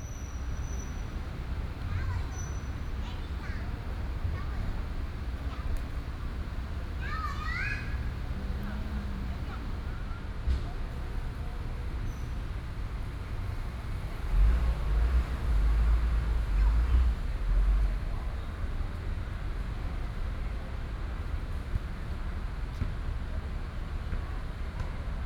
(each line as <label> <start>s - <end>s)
Traffic noise 0.0s - 25.2s
garbage truck 0.1s - 10.0s